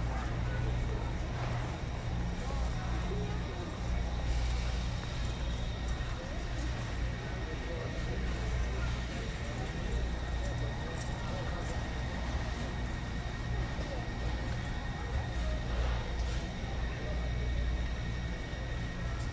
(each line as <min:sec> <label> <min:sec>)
0:00.0 grocery cart 0:19.3
0:00.0 people 0:19.3